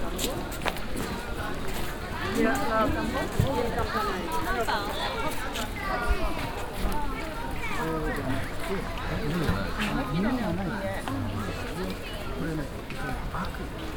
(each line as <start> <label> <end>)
0.0 school classes taking group photographs 13.9
0.0 visitors talking 13.9